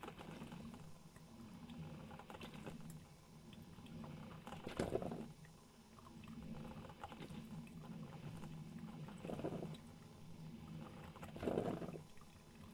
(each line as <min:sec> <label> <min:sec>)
0:03.6 Coffee brewing 0:12.7